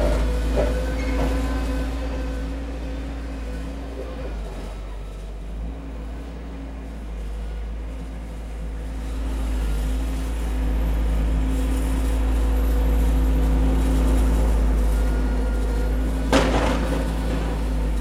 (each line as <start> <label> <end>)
0.0 small tractor, snowplough, ploughing snow 18.0